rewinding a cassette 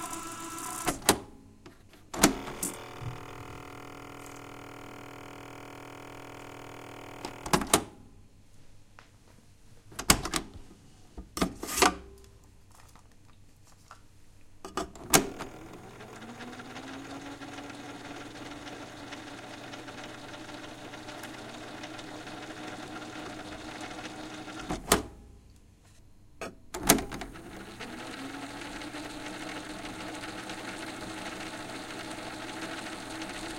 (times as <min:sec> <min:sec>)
0:00.0 0:01.2, 0:02.2 0:07.7, 0:15.1 0:25.1, 0:26.9 0:33.5